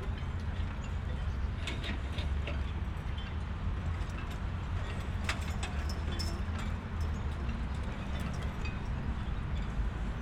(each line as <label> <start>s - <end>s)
people try to lift boat into the water by a small crane 0.4s - 8.9s